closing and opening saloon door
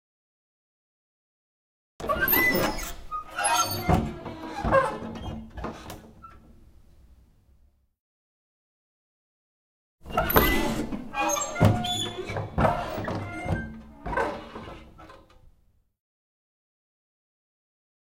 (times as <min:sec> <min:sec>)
0:02.0 0:06.6, 0:10.0 0:15.5